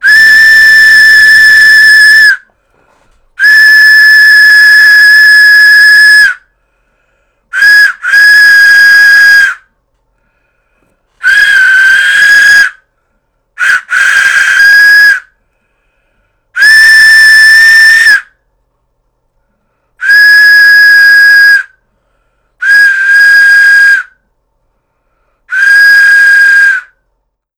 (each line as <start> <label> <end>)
0.0 steam train whistle 2.5
3.4 steam train whistle 6.5
7.5 steam train whistle 9.7
11.2 steam train whistle 12.8
13.6 steam train whistle 15.4
16.6 steam train whistle 18.4
20.0 steam train whistle 21.8
22.6 steam train whistle 24.2
25.5 steam train whistle 27.0